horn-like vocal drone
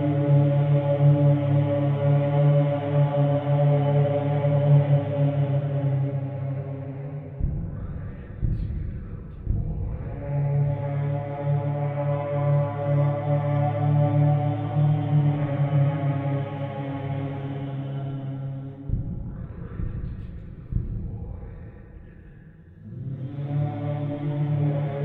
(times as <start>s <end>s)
9.7s 18.8s, 22.8s 25.0s